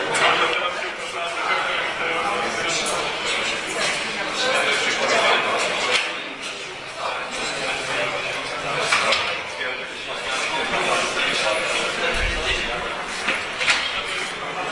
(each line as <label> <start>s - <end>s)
hubbub in front of lecture theatre 0.0s - 14.7s